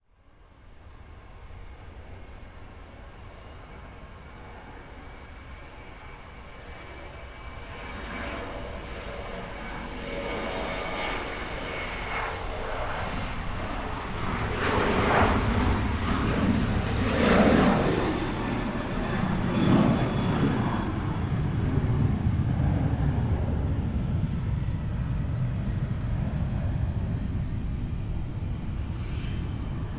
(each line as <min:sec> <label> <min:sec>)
0:00.4 passenger jets taking off and landing 0:29.9
0:07.7 wind noise 0:29.9
0:26.7 birds chirping 0:29.9